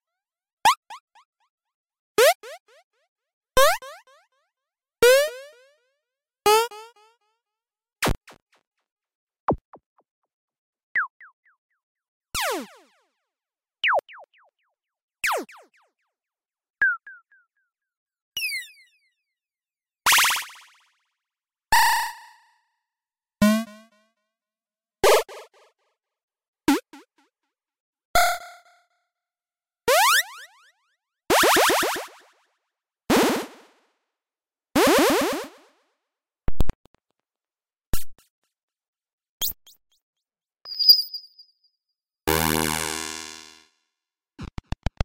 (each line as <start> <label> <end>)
40.7 bleep 41.4